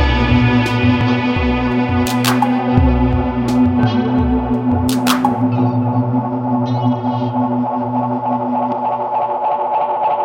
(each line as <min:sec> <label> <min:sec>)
0:00.0 drum machine 0:05.8
0:00.0 elecric guitar 0:09.3